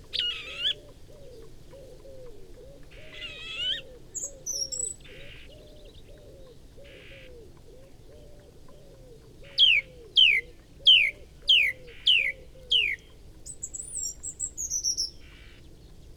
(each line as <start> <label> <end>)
0.0 Song thrush singing 16.1
0.1 song and calls from whitethroat 0.8
3.0 song and calls from whitethroat 5.5